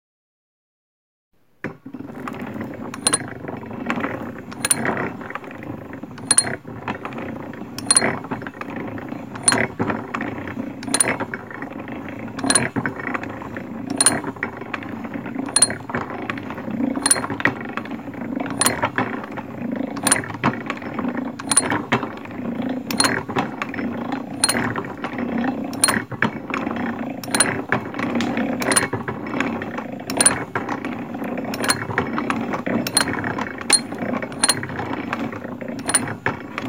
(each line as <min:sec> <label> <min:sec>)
0:02.1 Grinding gears and steady clinking of an antique, hand-cranked drill press 0:36.6